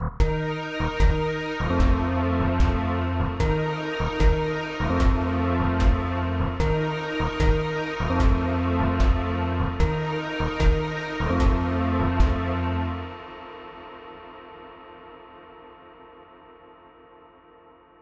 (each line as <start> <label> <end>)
0.0 drums 12.8
0.0 bass 13.2
0.0 synth strings 15.0
0.2 bells 13.3